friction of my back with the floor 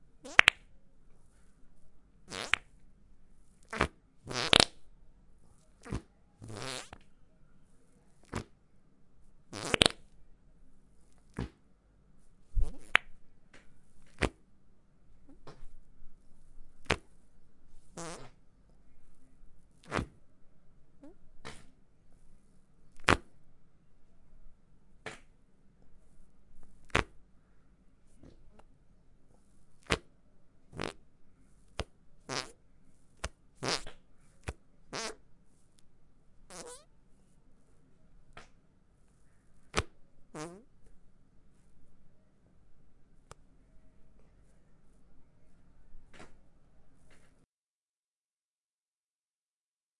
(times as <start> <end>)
12.4 13.2